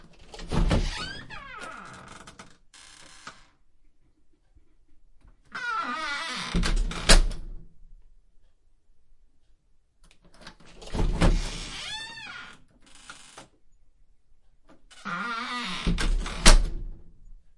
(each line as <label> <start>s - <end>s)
Opening and closing a creaky front door 0.0s - 3.7s
Opening and closing a creaky front door 5.4s - 7.6s
Opening and closing a creaky front door 10.3s - 13.6s
Opening and closing a creaky front door 14.7s - 17.1s